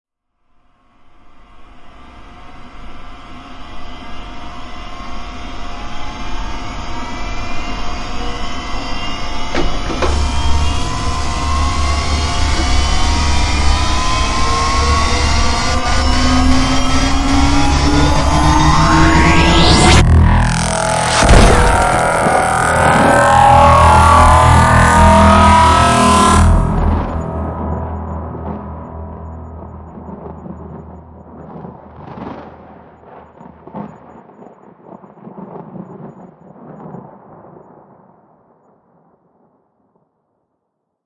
2.3s Laser of Doom 33.0s
9.6s explosion 39.3s

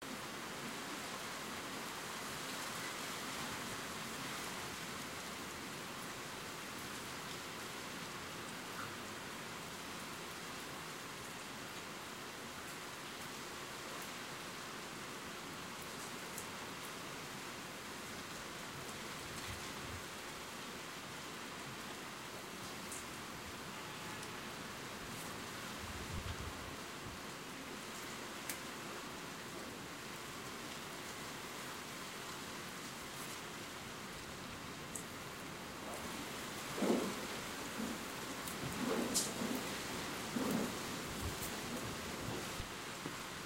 0.0s Light rain 43.4s

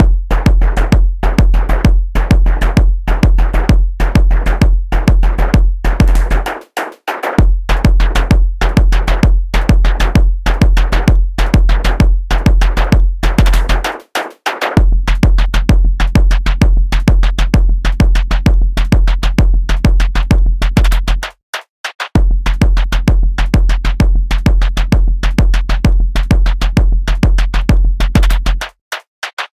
0.0s Bass 6.5s
0.0s Hi Hats 29.5s
0.0s Kick 29.5s
0.0s Snare 29.5s
5.2s Clap 9.2s
7.4s Bass 14.0s
12.7s Clap 14.8s
14.7s Bass 21.4s
20.0s Clap 22.2s
22.1s Bass 28.7s
27.2s Clap 29.5s

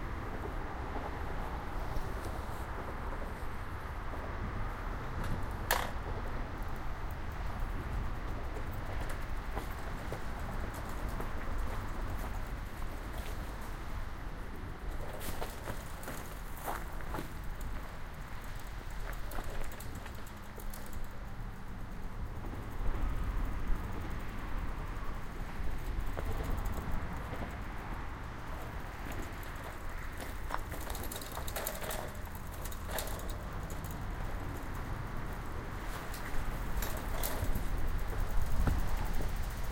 0.0s bike ride 39.7s
0.0s traffic 39.7s
0.0s windy 39.7s
14.8s gears 39.7s

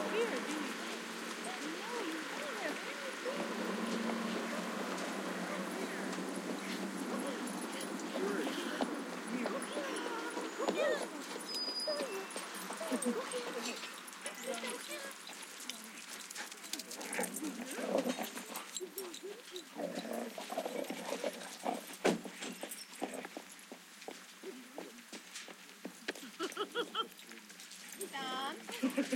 0.0s owners calling out 16.0s
0.0s dogs playing and barking 29.1s

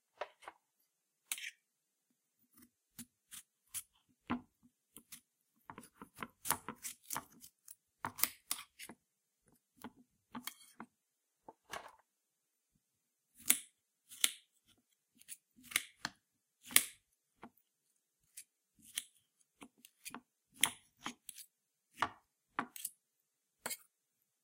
4.9s Slicing a Melon on a Plate 9.0s
18.2s Slicing a Melon on a Plate 23.0s
23.6s Slicing a Melon on a Plate 23.9s

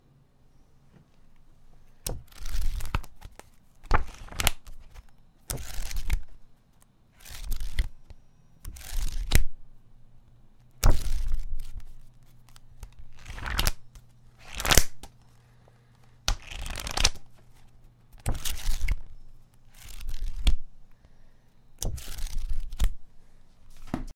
2.1s pages flipping 8.0s
8.6s pages flipping 9.5s
10.8s pages flipping 20.6s
21.8s pages flipping 23.0s
23.6s pages flipping 24.1s

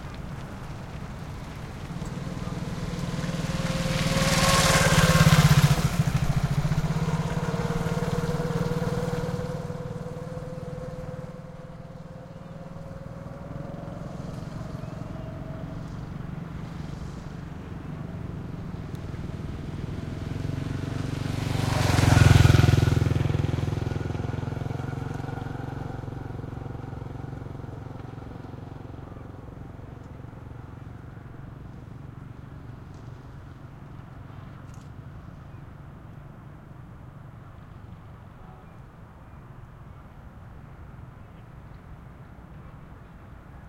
0.0s scooters pass by slow and medium speed 43.6s

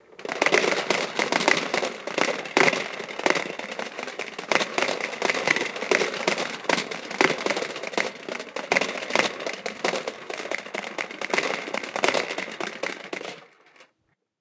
0.0s corn popper with accents 13.9s

